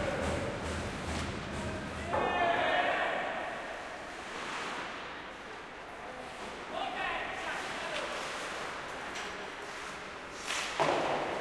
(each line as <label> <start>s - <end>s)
skating 0.0s - 11.4s
shouting 2.1s - 3.7s